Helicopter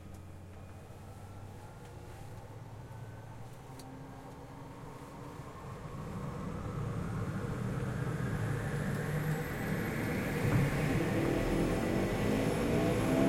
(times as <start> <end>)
5.7 13.2